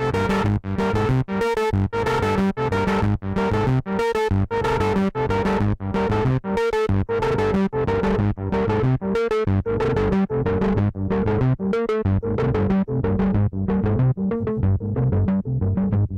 music 0.0 - 16.1

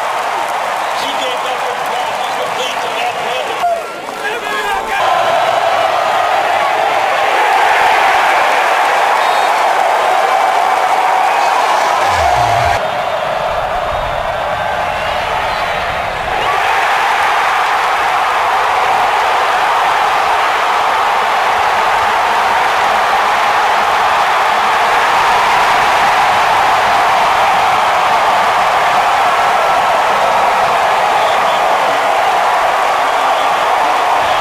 cheerleaders 0.0 - 34.4
stadium crowd erupting during big plays 0.0 - 34.4
whistles 9.1 - 9.7
pads 11.4 - 12.8
whistles 31.2 - 32.0
whistles 32.9 - 34.4

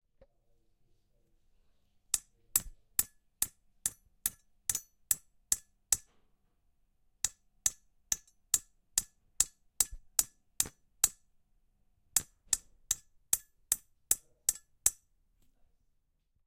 nails 2.1 - 6.3
nails 12.2 - 15.1

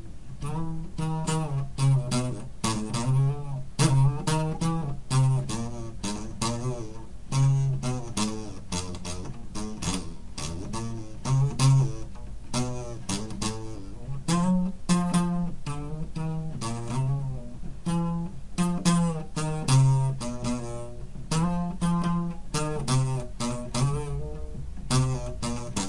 homemade wall cubby guitar thingy 0.0 - 25.8

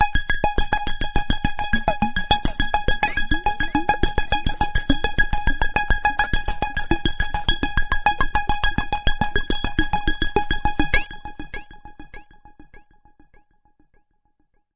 hardware synth 2.6 - 5.3

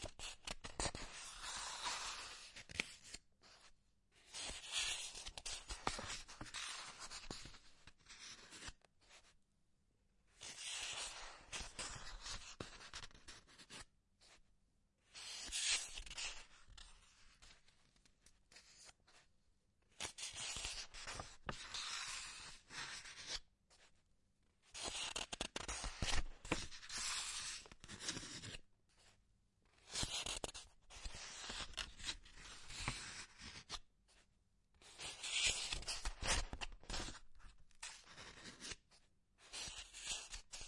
Turning pages of a book 0.0 - 9.4
Turning pages of a book 10.3 - 40.6

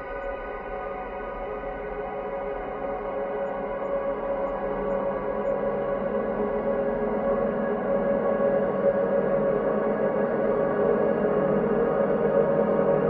slowly evolving ambient drone pad 0.0 - 13.0

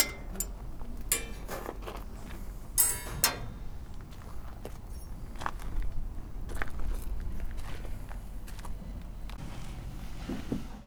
Machines 0.0 - 1.8
Bangs 0.0 - 1.8
Scrapes 0.0 - 3.7
rattle 0.0 - 3.9
Clanks 0.0 - 4.3
Machines 2.8 - 3.9
Bangs 2.8 - 3.8

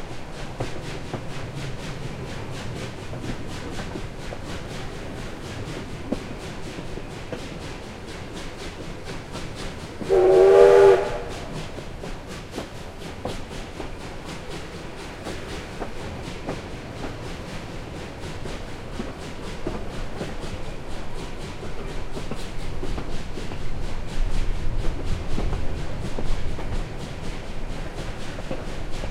Slow Moving Steam Train 0.0 - 29.1

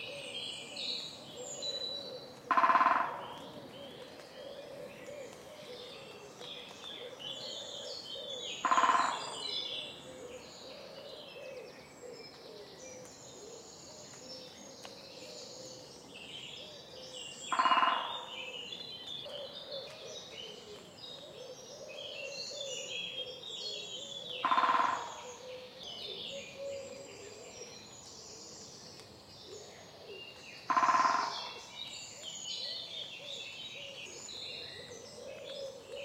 great spotted woodpecker (Dendrocopos major) drumming 2.4 - 5.4
great spotted woodpecker (Dendrocopos major) drumming 8.2 - 9.3
great spotted woodpecker (Dendrocopos major) drumming 17.5 - 18.3
great spotted woodpecker (Dendrocopos major) drumming 24.4 - 25.6

